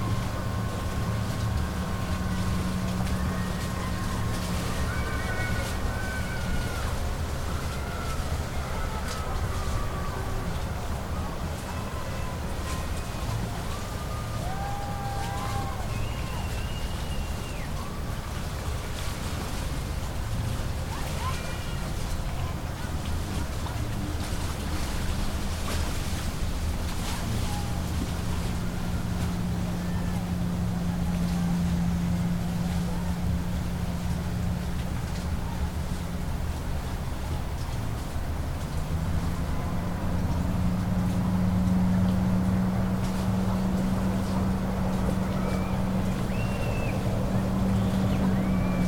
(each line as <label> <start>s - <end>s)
cheering 0.0s - 19.5s
boats pass 0.0s - 48.8s
cheering 27.0s - 31.8s
cheering 38.9s - 41.3s
cheering 43.7s - 48.8s